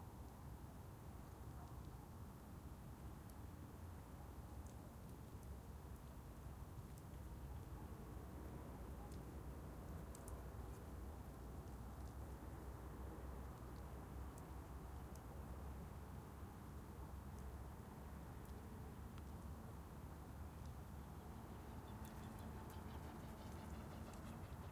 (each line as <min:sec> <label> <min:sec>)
0:20.9 other birds 0:24.7
0:21.8 bird flying overhead 0:24.7